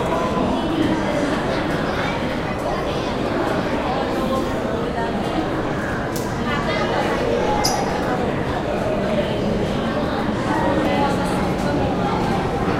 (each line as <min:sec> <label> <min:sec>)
0:00.0 subway 0:12.7